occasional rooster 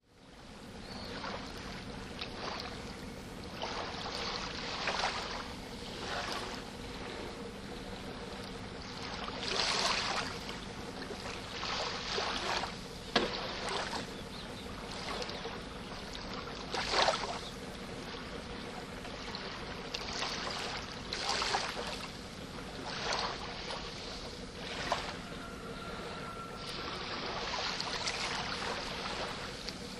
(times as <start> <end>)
25.0 27.1